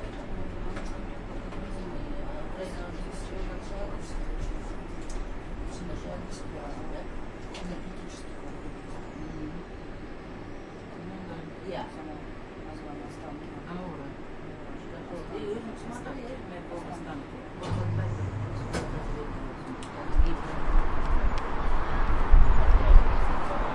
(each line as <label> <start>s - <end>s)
monorail 0.0s - 23.7s